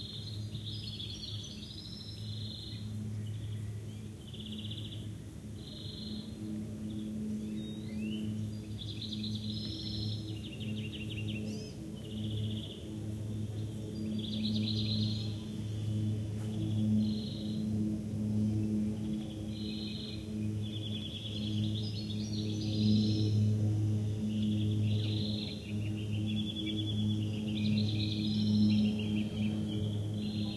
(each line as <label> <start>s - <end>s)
cicadas 0.0s - 30.5s
flies 0.0s - 30.5s
passing airplane 0.0s - 30.5s
Black Kite 2.8s - 30.5s